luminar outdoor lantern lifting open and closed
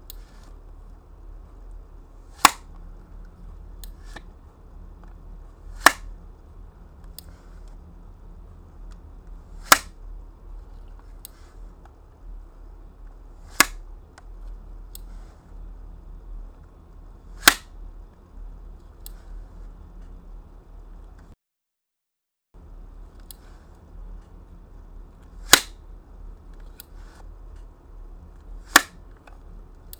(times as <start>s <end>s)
0.0s 0.7s, 2.2s 6.2s, 8.8s 12.0s, 13.0s 15.7s, 16.5s 17.8s, 22.7s 29.9s